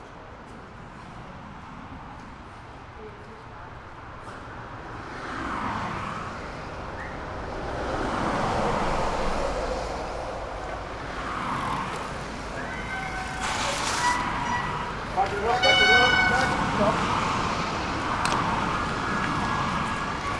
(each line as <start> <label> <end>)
0.0 pedestrians walk through 20.3
3.7 passing-by cars 20.3
8.4 group of cyclists stop 20.3